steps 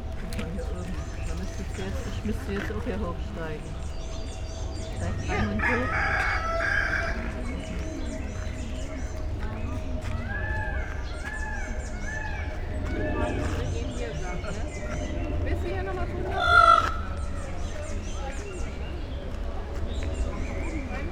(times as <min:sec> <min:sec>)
0:00.0 0:16.4